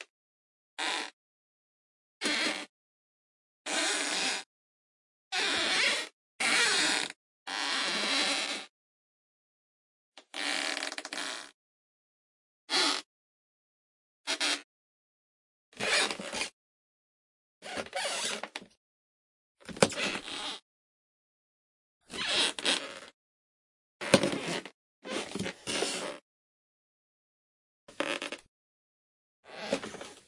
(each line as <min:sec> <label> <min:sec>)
0:05.4 Creaks for wood floors or doors 0:08.7
0:10.3 Creaks for wood floors or doors 0:11.6
0:14.3 Creaks for wood floors or doors 0:14.7
0:17.6 Creaks for wood floors or doors 0:18.7
0:19.7 Creaks for wood floors or doors 0:20.6
0:22.1 Creaks for wood floors or doors 0:23.2
0:27.9 Creaks for wood floors or doors 0:28.5
0:29.5 Creaks for wood floors or doors 0:30.2